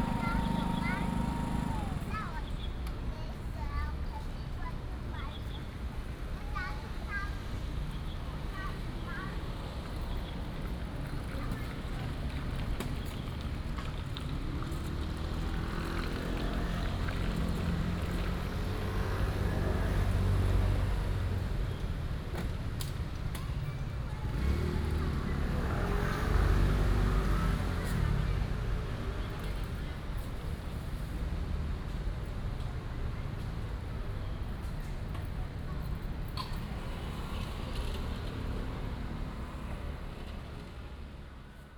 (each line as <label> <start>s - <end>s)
The elderly and children 0.0s - 2.4s
Traffic Sound 0.0s - 41.7s